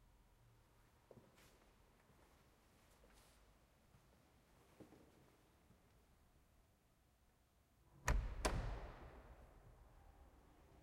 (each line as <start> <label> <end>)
8.0 Church door opening and closing 9.8